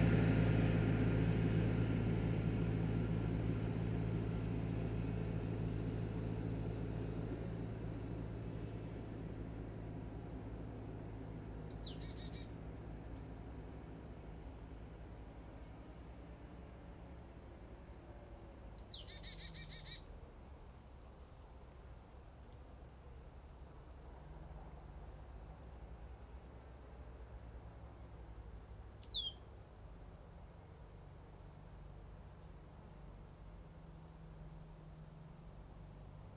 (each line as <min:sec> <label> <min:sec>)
0:00.0 traffic 0:36.3
0:11.5 bird 0:12.5
0:18.6 bird 0:20.1
0:29.0 bird 0:29.5